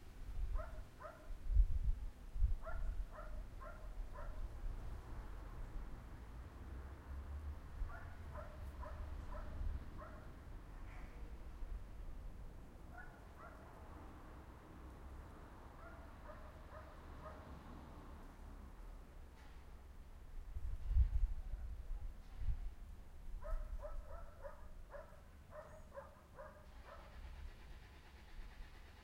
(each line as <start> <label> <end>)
26.7 car starting 29.0